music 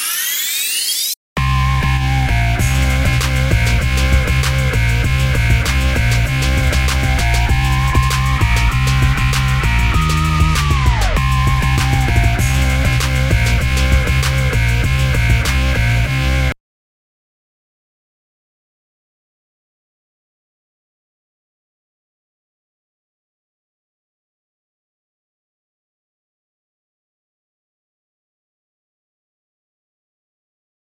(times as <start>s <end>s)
0.0s 16.6s